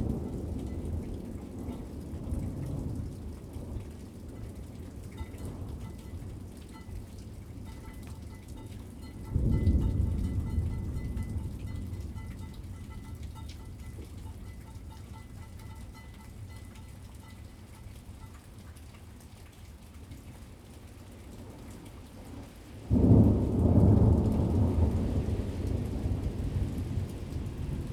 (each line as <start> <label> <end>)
0.0 thunderstorm 7.0
7.6 thunderstorm 14.7
22.9 thunderstorm 27.9